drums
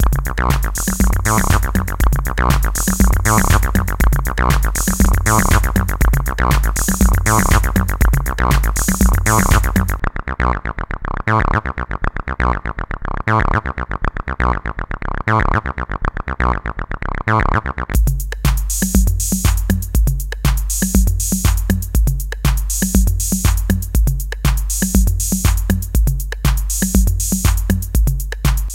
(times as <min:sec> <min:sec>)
0:00.0 0:10.0, 0:18.0 0:28.7